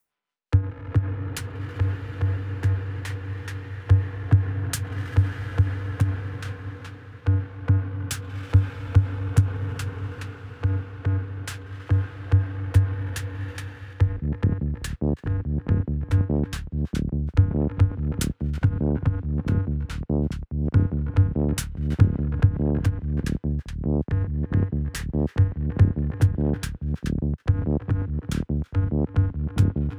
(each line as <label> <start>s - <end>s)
synthbass 14.0s - 29.9s